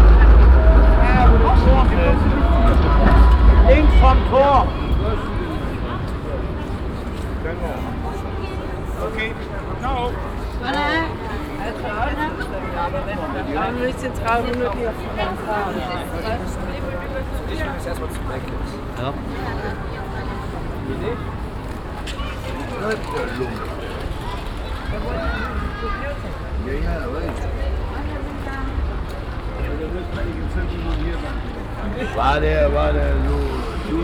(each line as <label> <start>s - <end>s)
conversation of local street people 0.0s - 34.0s
tram passing by 0.0s - 34.0s